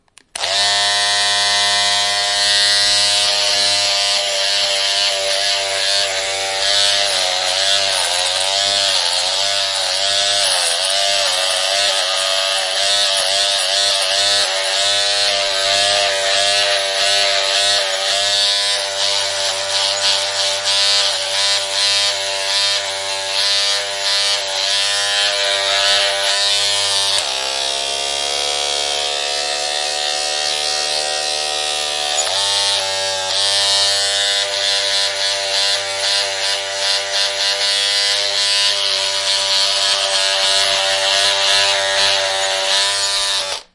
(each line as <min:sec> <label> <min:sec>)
0:00.3 Electric shaver 0:43.7